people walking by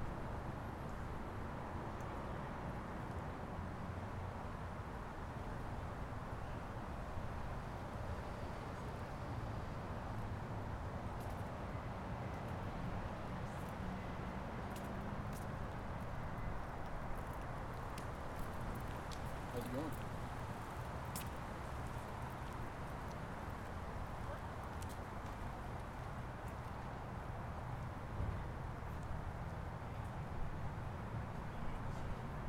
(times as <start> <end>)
11.0 32.4